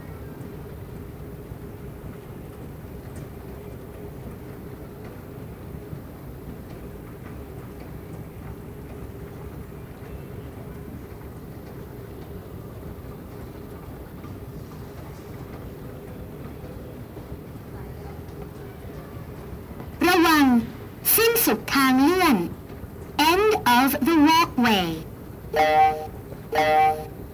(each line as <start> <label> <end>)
20.0 automatic voice announce the end of the walkway 22.6
23.2 automatic voice announce the end of the walkway 25.0
25.6 automatic voice announce the end of the walkway 27.1